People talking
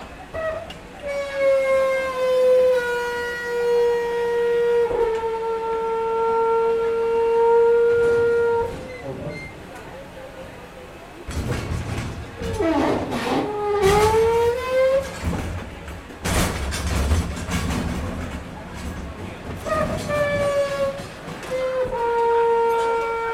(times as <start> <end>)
8.6 16.5, 17.7 23.3